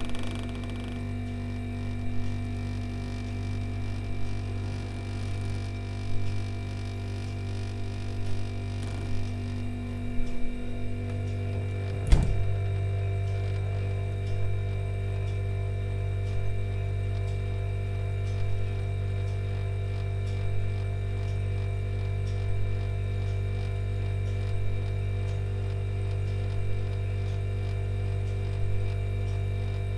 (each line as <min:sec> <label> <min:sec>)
0:10.4 Refrigerator jam 0:12.9
0:12.0 opening it's doors 0:12.6